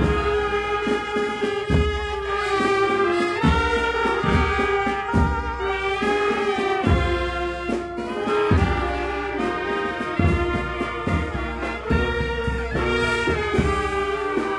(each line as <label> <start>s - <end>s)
drums 0.0s - 14.5s
people talking 0.0s - 14.5s
trumpets 0.0s - 14.5s